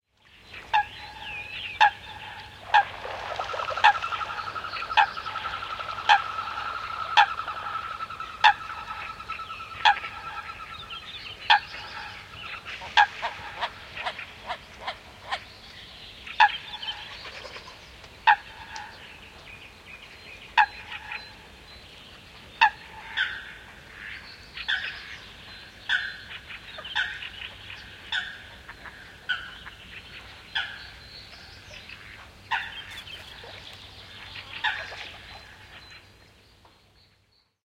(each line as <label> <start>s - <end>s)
small birds in the bg 0.2s - 37.6s
waterbirds 0.2s - 36.9s
Coots calling on a lake 0.6s - 15.5s
water sounds 1.9s - 9.1s
wings 2.7s - 6.5s
Coots calling on a lake 16.3s - 19.1s
Coots calling on a lake 20.5s - 21.5s
Coots calling on a lake 22.6s - 25.3s
Coots calling on a lake 25.9s - 36.2s